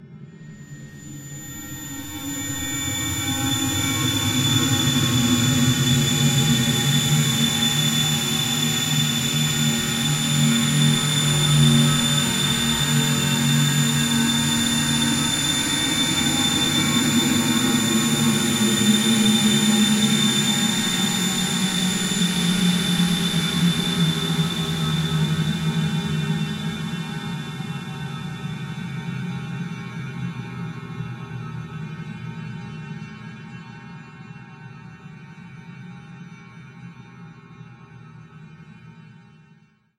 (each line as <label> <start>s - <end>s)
Drone 0.0s - 31.7s